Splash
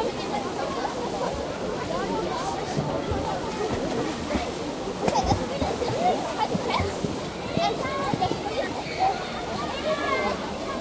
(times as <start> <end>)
2.3 8.6